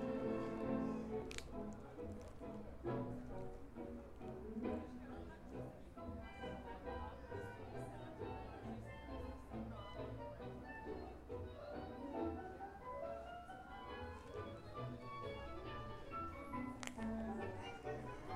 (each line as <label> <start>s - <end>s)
tango 0.0s - 18.3s